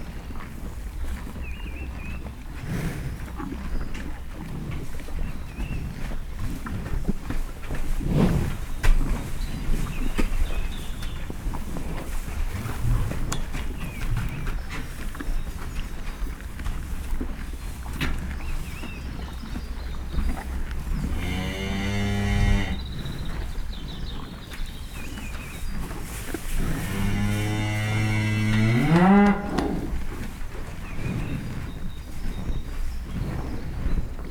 0.0s Hereford cattle continuously munch on hay bales 34.3s

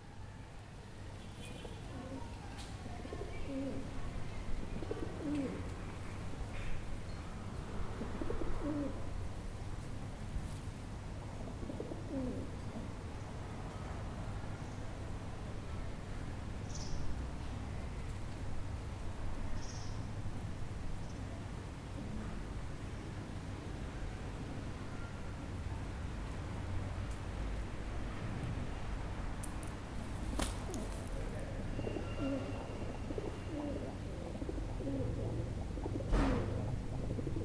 0.0s cars from the nearby street 37.4s
30.2s flock of pigeons 37.4s

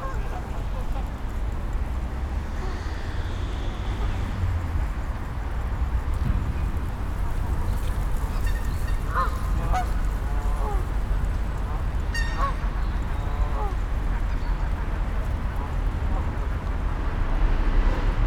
7.4s groups of canada and greylag geese take to the air 18.0s

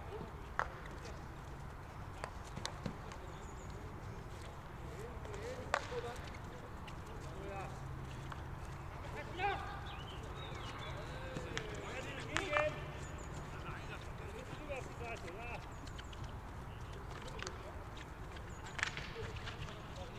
0.0s Field hockey training 20.1s

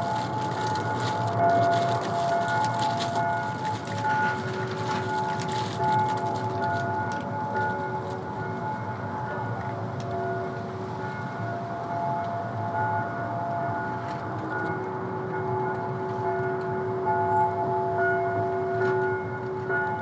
0.0s rustling leftovers from a construction site 8.8s
0.0s Distant bells 20.0s

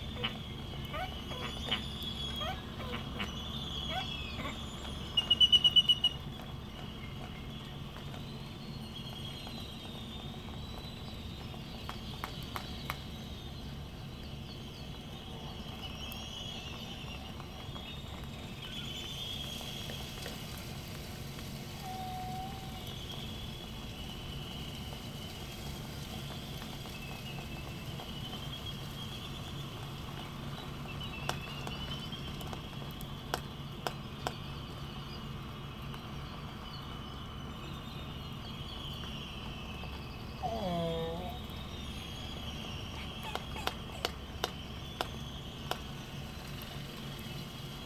0.0s canaries 13.6s
0.0s white terns 47.8s
0.0s Laysan albatross 6.2s
21.4s Laysan albatross 23.2s
37.7s canaries 47.8s
40.4s Laysan albatross 45.8s

